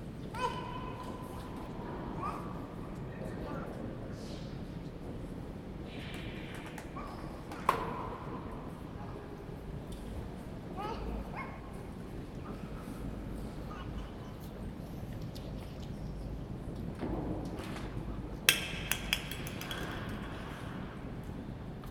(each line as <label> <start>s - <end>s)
coins falling in a offertory box 18.5s - 20.5s